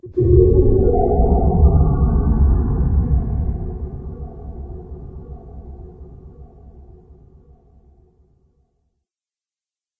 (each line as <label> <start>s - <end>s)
underwatery echo scape 0.0s - 8.5s